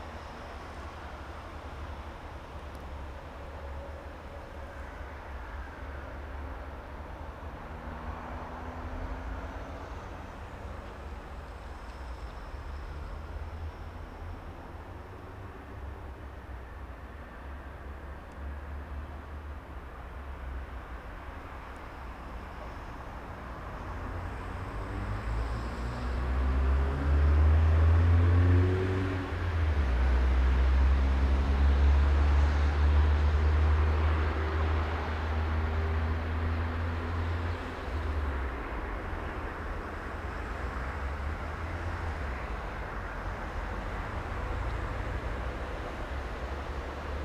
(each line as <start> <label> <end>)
0.0 cargo train is passing by 47.2
9.5 Train arrival, departure 18.9